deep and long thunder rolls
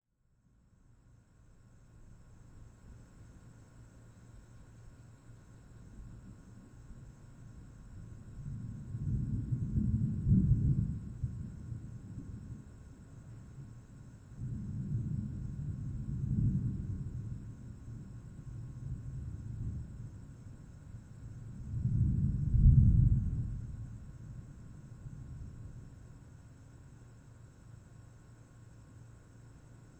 8.3 13.0, 14.3 20.5, 21.3 25.9

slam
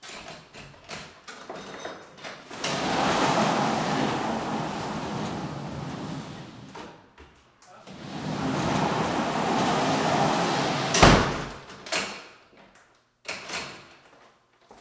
9.6 11.7

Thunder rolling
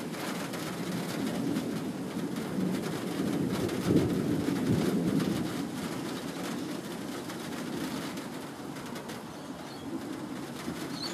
0.0 8.0

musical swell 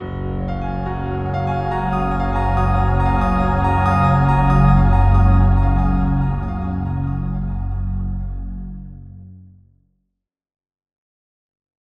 0.1 9.2

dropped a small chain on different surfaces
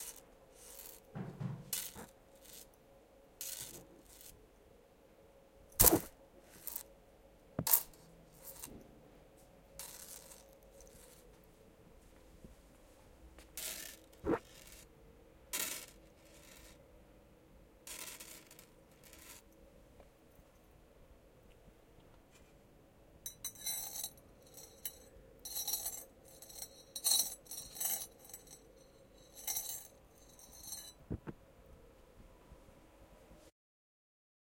0.0 2.8, 3.4 4.4, 5.7 6.9, 7.6 8.9, 9.8 11.3, 13.5 14.9, 15.5 16.8, 17.8 19.5, 23.3 31.3

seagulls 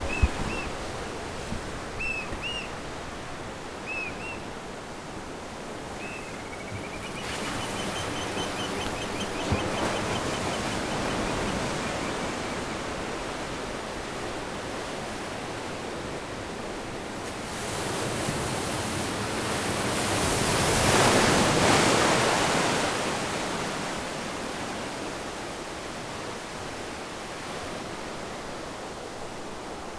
6.0 12.8

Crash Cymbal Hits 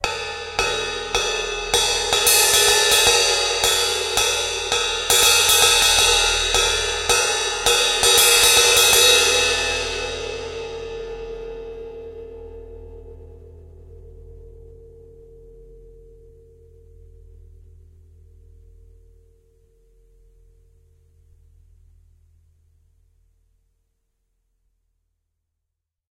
0.0 13.6

